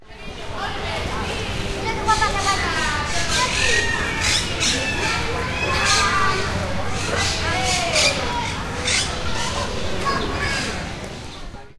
human voices 0.1 - 11.7
Monk Parakeet 2.1 - 10.6

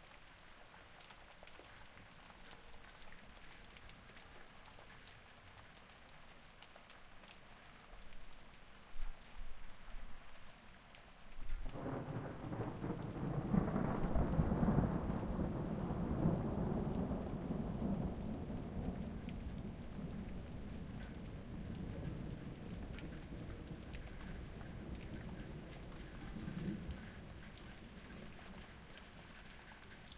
Rain 0.0 - 30.1
Thunder 11.7 - 27.2

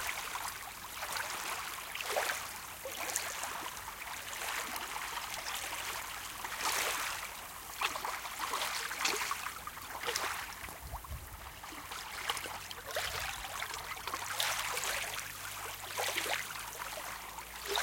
Small waves on a sandy beach 0.0 - 17.8

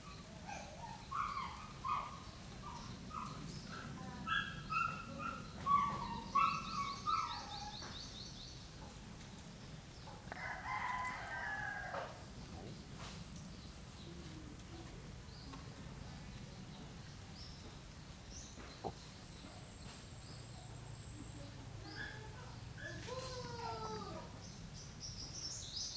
roosters 0.0 - 17.8
birds 0.0 - 25.9
insects 0.0 - 25.9

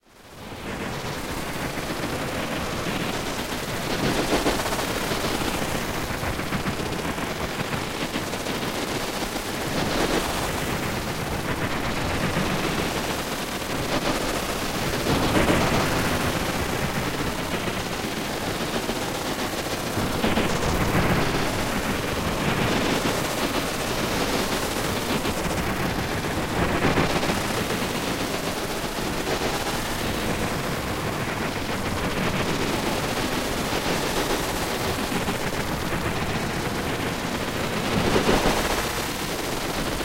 ambient droning noisescape 0.2 - 40.0

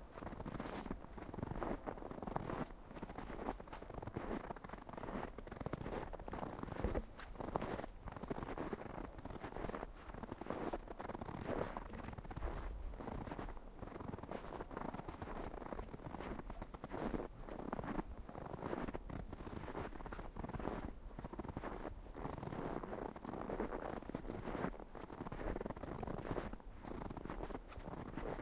footsteps 0.2 - 21.8

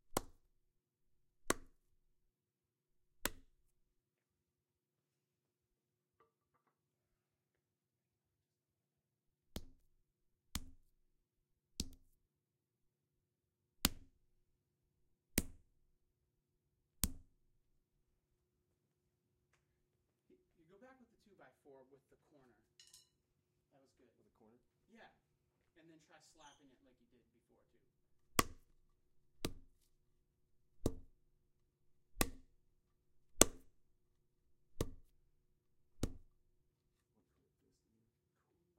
instructor's voice 23.8 - 27.9

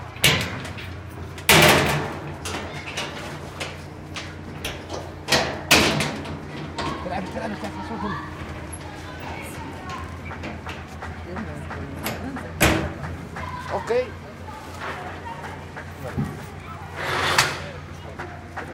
metal sheet cover down rattle 0.2 - 7.0

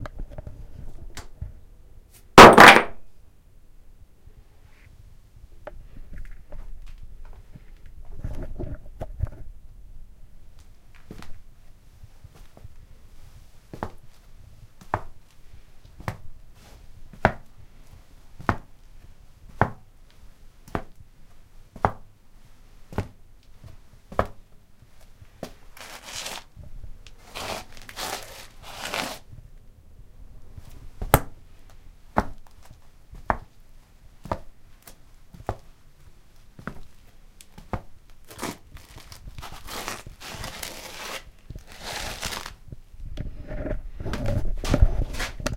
footsteps inside a house 5.8 - 9.5
footsteps inside a house 10.5 - 25.8
footsteps inside a house 30.5 - 38.0

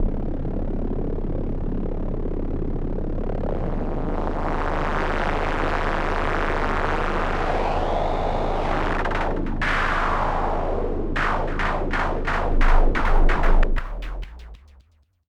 Analog Bass 0.0 - 15.0
pad 8.6 - 14.6

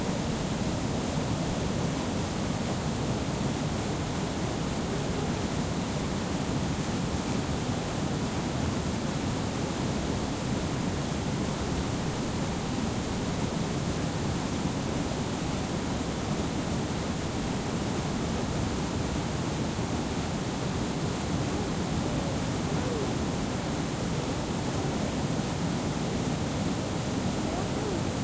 Small waterfall 0.0 - 28.2

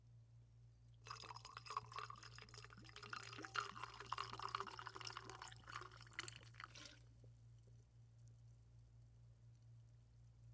Continuous pour of liquid into glass 1.0 - 7.1
liquid and glass hitting sides of container 6.1 - 7.0

